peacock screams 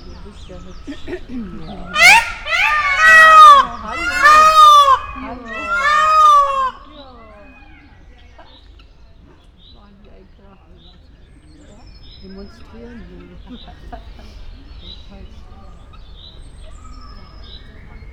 0:01.9 0:07.9

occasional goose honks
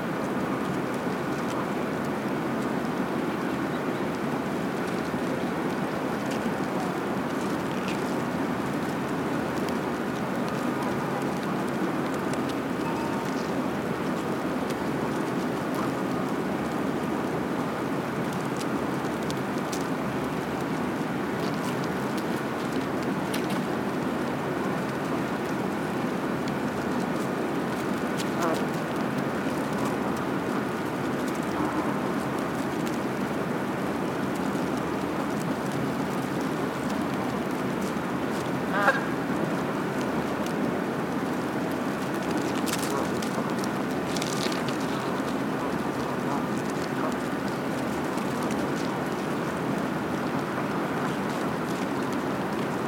0:38.7 0:39.2

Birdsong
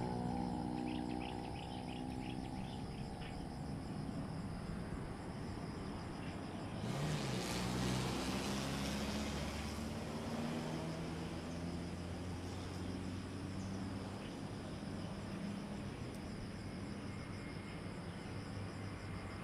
0:00.0 0:03.8

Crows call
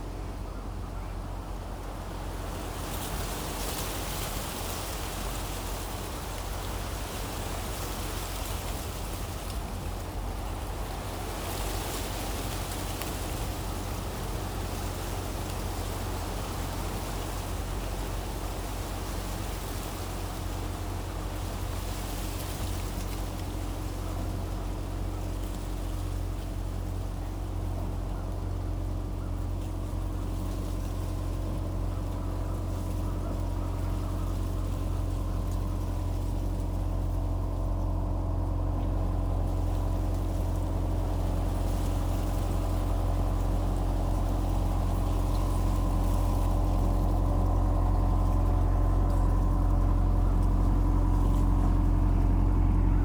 0:28.0 0:36.2

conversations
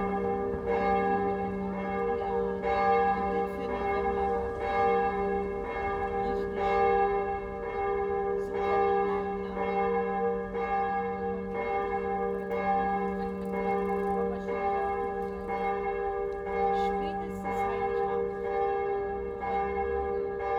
0:11.1 0:20.5

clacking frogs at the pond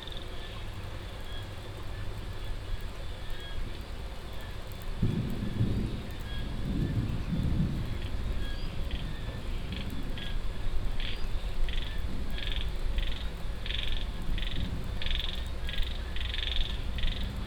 0:11.0 0:17.4

